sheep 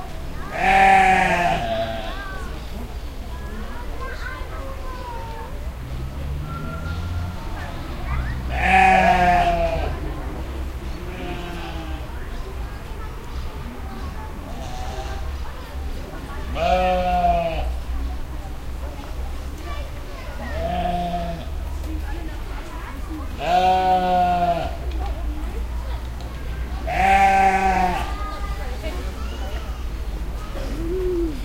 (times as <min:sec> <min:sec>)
0:00.5 0:02.3, 0:23.4 0:24.8, 0:26.9 0:28.2